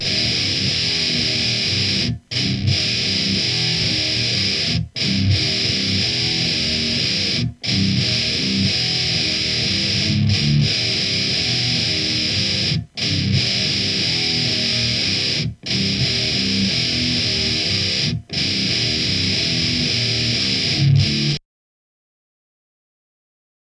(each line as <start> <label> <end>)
0.0 guitar 21.4